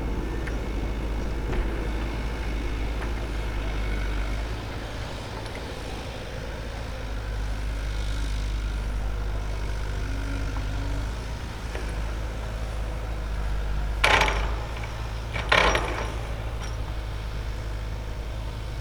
0.0s cars pass by 18.8s
0.0s working excavator in the distance 18.8s

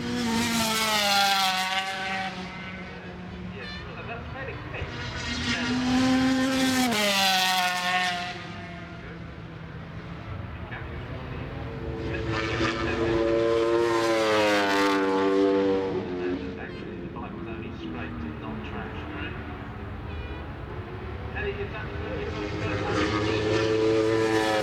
21.3s 500cc motorcyle warm up 24.6s

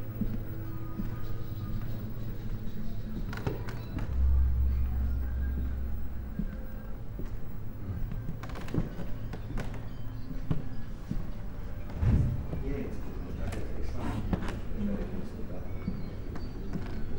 0.2s walk, wooden floor 4.2s
6.4s walk, wooden floor 12.7s
15.9s walk, wooden floor 17.1s

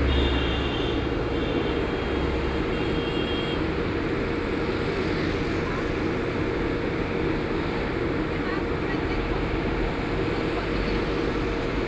0.0s Traffic Sound 11.8s

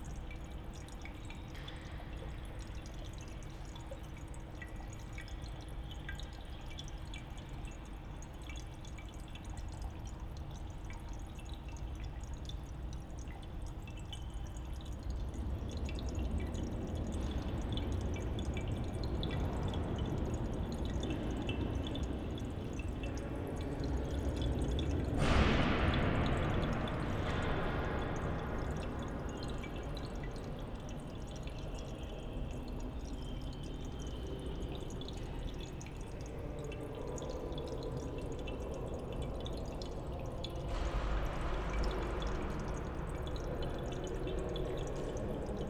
0.0s fountain 45.6s
14.6s deep rumble comes from the heavy iron gates 45.6s

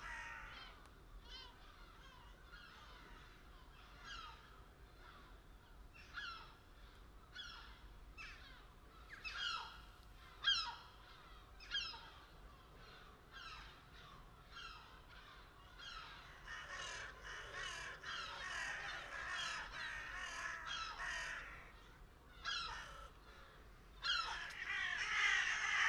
0.0s Crows 5.4s
6.0s Crows 25.8s
10.4s Seagulls 25.8s

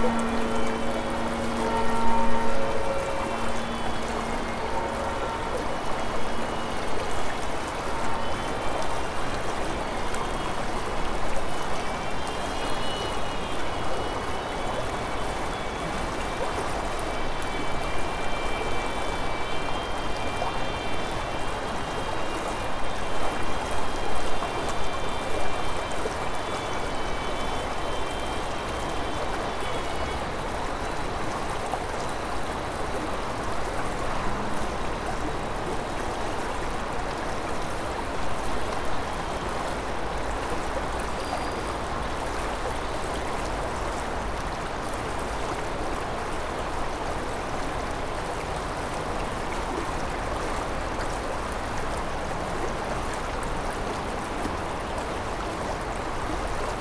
0.0s city traffic noise 56.7s
0.0s river gurgling 56.8s

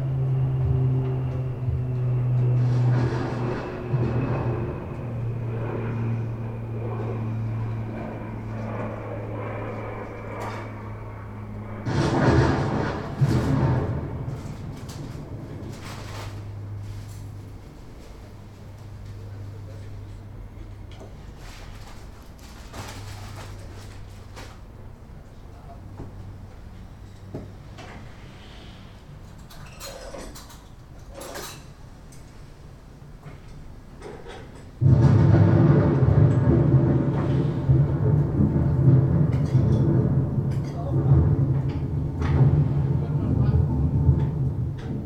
0.0s heavy thunderstorm comes out of the film studio's open window 10.8s
0.0s a plane crosses 20.9s
11.8s heavy thunderstorm comes out of the film studio's open window 26.2s
34.8s heavy thunderstorm comes out of the film studio's open window 45.0s
34.8s a plane crosses 45.0s

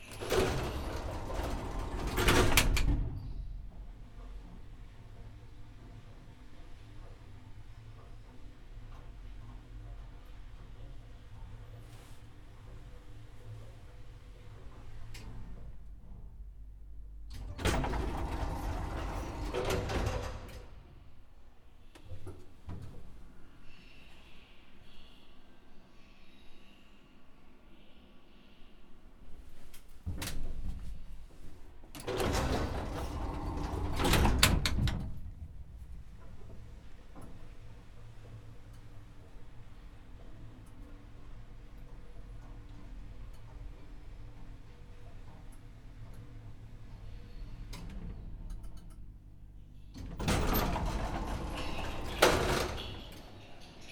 0.0s ride with a very small elevator 21.3s
29.4s ride with a very small elevator 53.9s

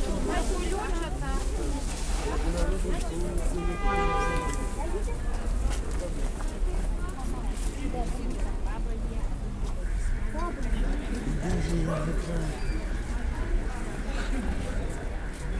0.0s vendors selling home-grown and -made produce 15.5s

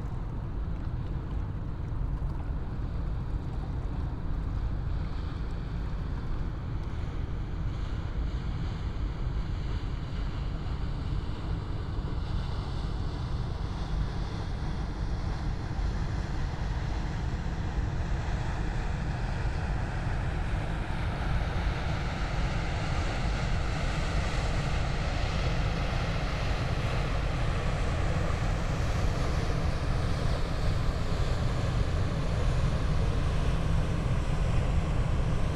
0.0s waves 35.5s

